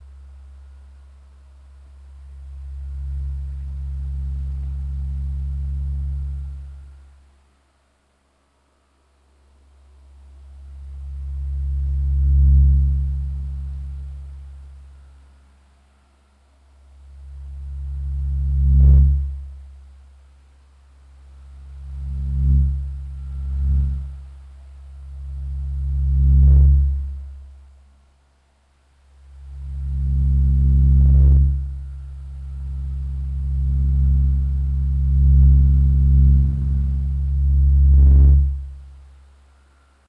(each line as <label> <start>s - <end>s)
Fan 0.0s - 40.0s